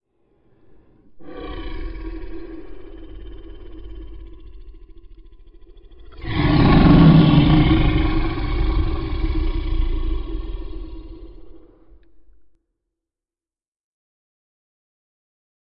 1.2s Beast Roar 12.2s

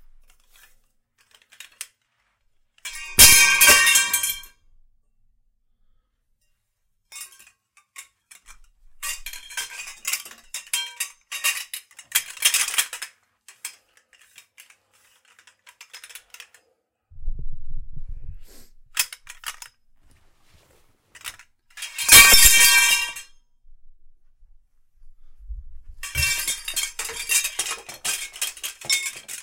2.9s pipes fall on the ground 4.5s
21.2s pipes fall on the ground 23.2s
26.0s pipes fall on the ground 29.4s

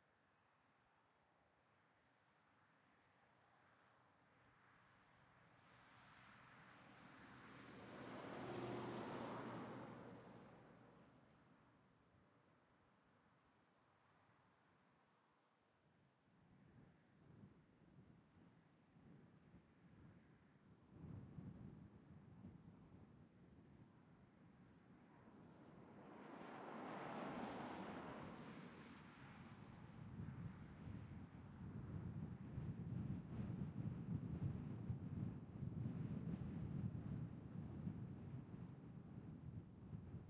0.0s Light intermittent wind 40.2s
5.6s single vehicles (mainly cars and trucks) passing 11.9s
6.8s Passing pair of cyclists 11.2s
24.3s single vehicles (mainly cars and trucks) passing 33.2s
25.3s Passing pair of cyclists 31.4s

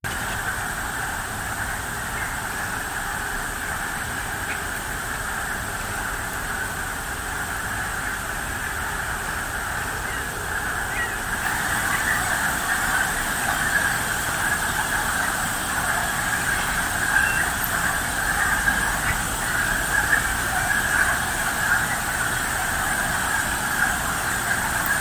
7.5s mating frogs 25.0s

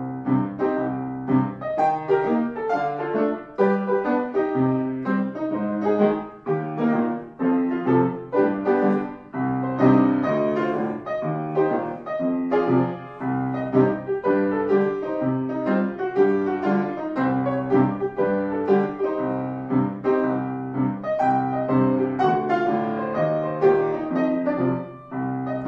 0.0s Piano 25.6s

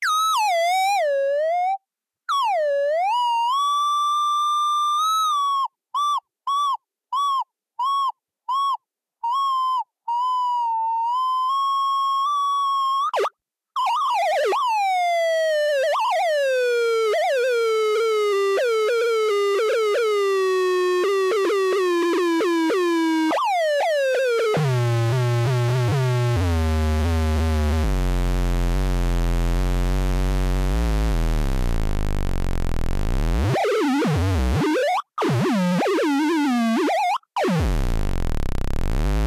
24.2s feedback loop 39.2s

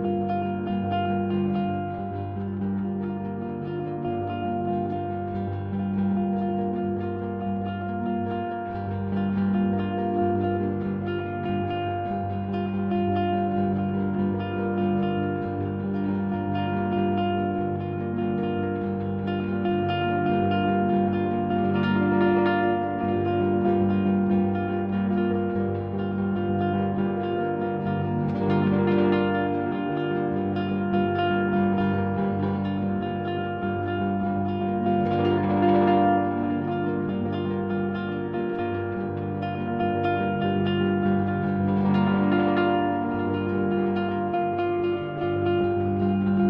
0.0s Electric mandocello drone 46.4s

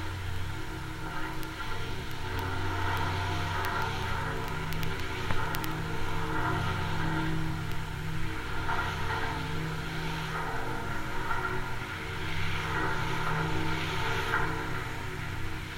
0.0s cable 9.6s

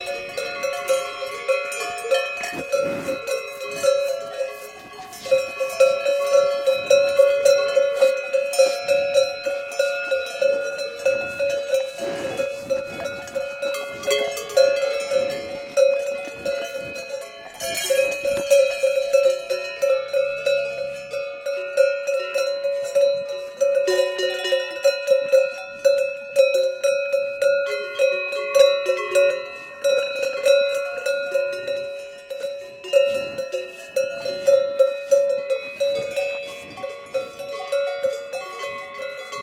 0.0s cowbells 39.4s

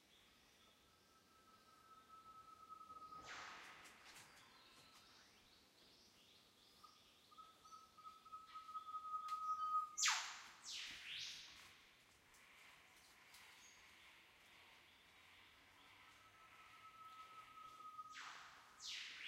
1.7s Northern whipbird 5.3s
7.3s Northern whipbird 11.6s
16.2s Northern whipbird 19.2s

